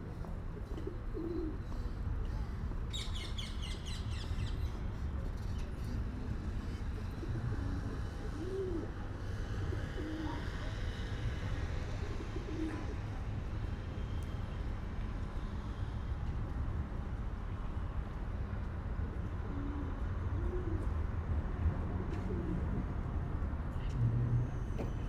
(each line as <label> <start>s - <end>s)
male pigeon cooing en courting a female 0.6s - 1.7s
male pigeon cooing en courting a female 7.0s - 9.0s
male pigeon cooing en courting a female 9.6s - 10.7s
male pigeon cooing en courting a female 11.9s - 13.1s
male pigeon cooing en courting a female 19.3s - 21.0s
male pigeon cooing en courting a female 22.0s - 22.8s